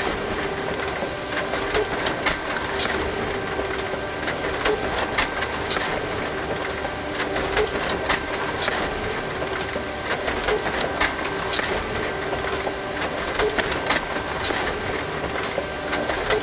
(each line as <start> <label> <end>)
0.0 printer 16.4